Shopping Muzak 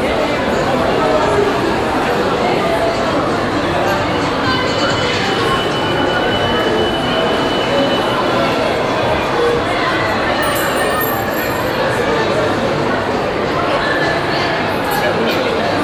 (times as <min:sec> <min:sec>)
0:10.4 0:11.8